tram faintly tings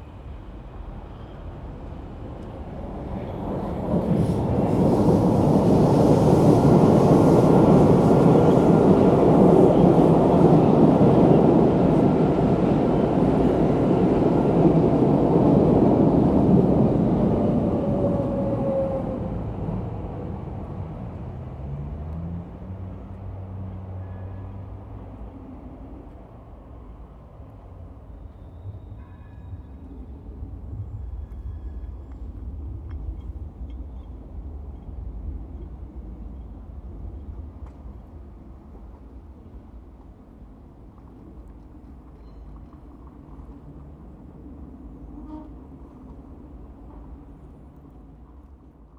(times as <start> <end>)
26.1 39.0, 40.8 47.5